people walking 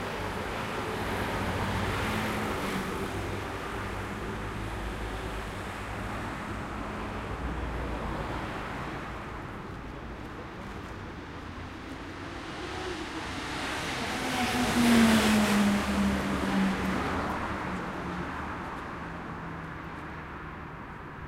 0:09.2 0:12.2

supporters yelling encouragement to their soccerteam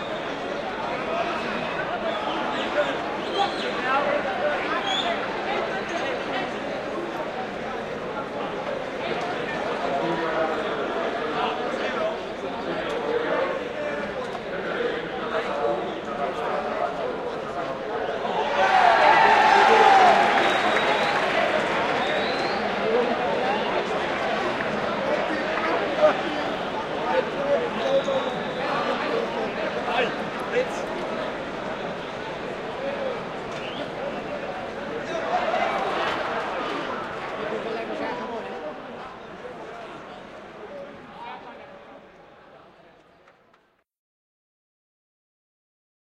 0:18.3 0:23.9

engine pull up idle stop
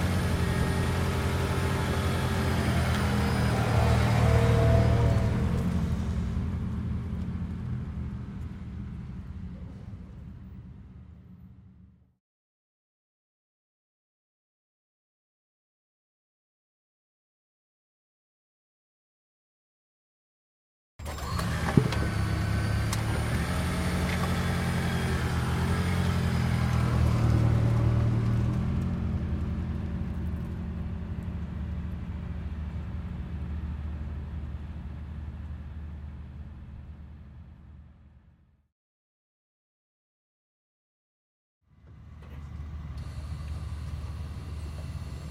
0:21.0 0:25.0, 0:41.8 0:45.3

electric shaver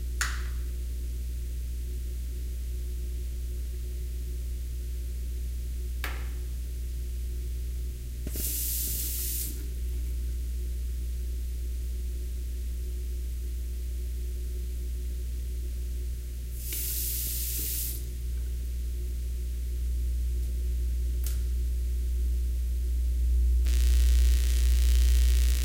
0:23.7 0:25.6

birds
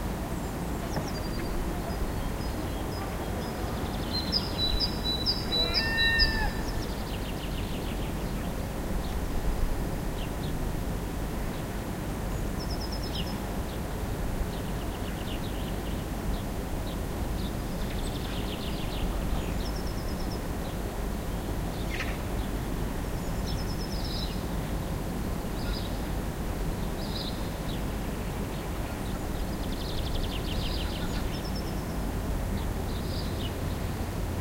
0:00.4 0:09.2

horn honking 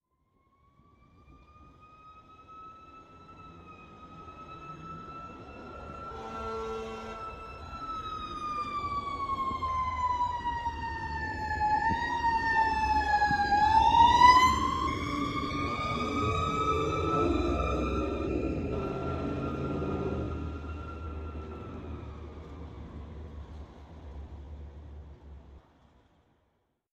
0:05.7 0:08.1

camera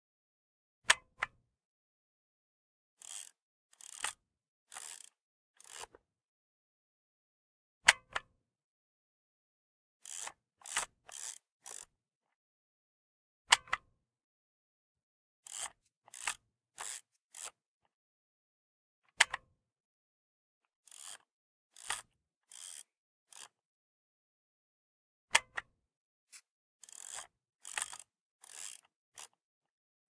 0:03.0 0:05.9, 0:10.0 0:11.8, 0:15.5 0:17.6, 0:20.9 0:21.2, 0:21.8 0:23.5, 0:26.8 0:29.4

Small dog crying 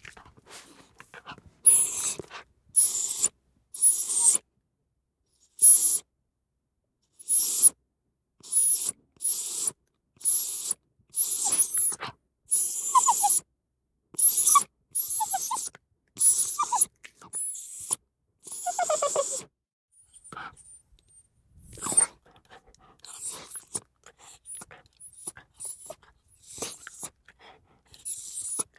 0:11.3 0:13.4, 0:14.2 0:19.5, 0:21.8 0:22.1

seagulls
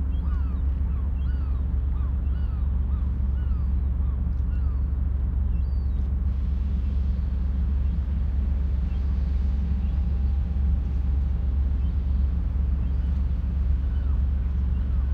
0:00.0 0:06.0, 0:11.7 0:15.1

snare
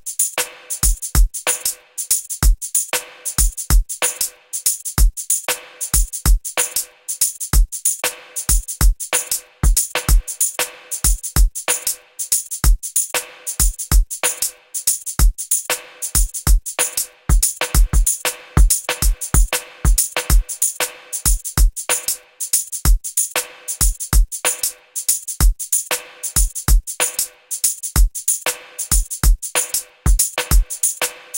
0:00.4 0:00.8, 0:03.0 0:03.4, 0:08.0 0:08.6, 0:09.2 0:11.1, 0:13.2 0:14.6, 0:15.7 0:16.2, 0:16.8 0:21.3, 0:23.4 0:23.8, 0:25.9 0:26.4, 0:27.0 0:27.5, 0:28.5 0:31.3

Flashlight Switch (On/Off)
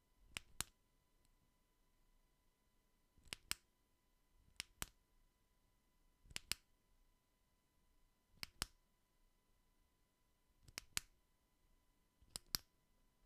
0:00.3 0:00.8, 0:03.2 0:03.7, 0:04.5 0:05.0, 0:06.3 0:06.7, 0:08.4 0:08.8, 0:10.6 0:11.2, 0:12.2 0:12.7

